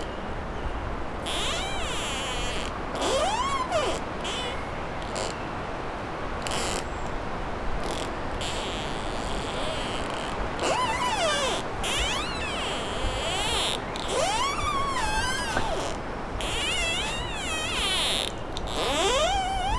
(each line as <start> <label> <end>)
1.2 trunks rubbing against each other making a rubbery squeak 5.5
6.4 trunks rubbing against each other making a rubbery squeak 7.1
7.7 trunks rubbing against each other making a rubbery squeak 19.7